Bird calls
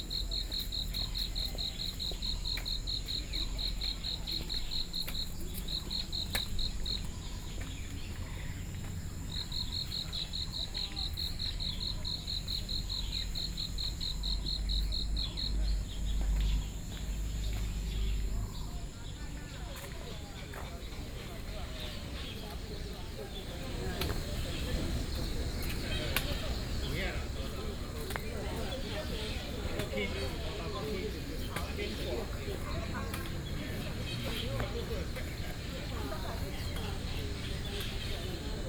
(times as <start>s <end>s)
12.6s 38.6s